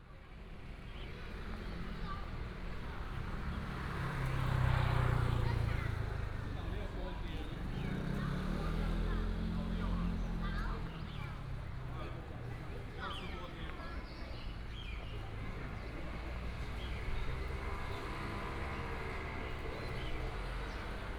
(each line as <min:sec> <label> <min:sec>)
0:00.2 traffic sound 0:21.1